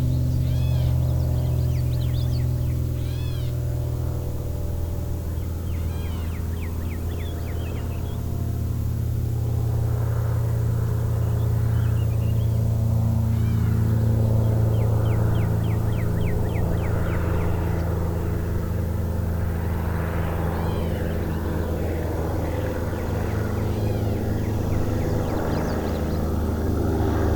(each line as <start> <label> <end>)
0.0 airplane 27.3